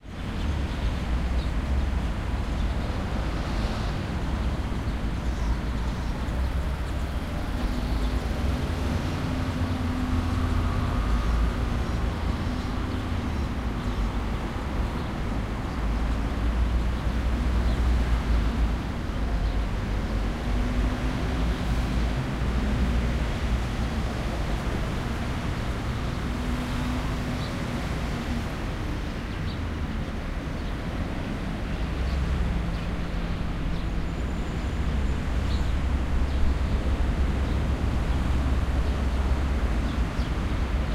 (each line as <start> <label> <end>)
0.0 traffic 40.9
29.1 Birds 40.9